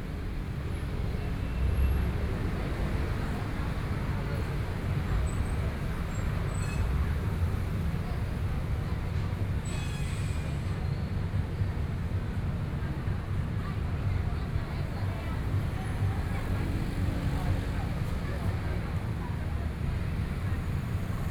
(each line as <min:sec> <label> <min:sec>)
0:00.0 Traffic Noise 0:21.3